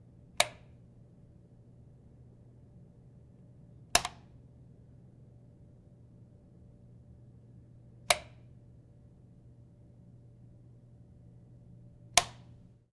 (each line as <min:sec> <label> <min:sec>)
0:00.3 light switch in a home turned on and off twice 0:00.8
0:03.9 light switch in a home turned on and off twice 0:04.4
0:08.0 light switch in a home turned on and off twice 0:08.5
0:12.1 light switch in a home turned on and off twice 0:12.6